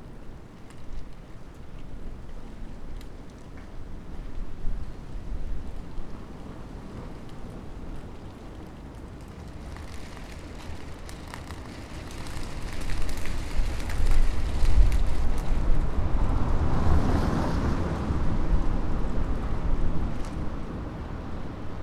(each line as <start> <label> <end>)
0.0 small flags of a nearby toyshop fluttering in the wind 21.8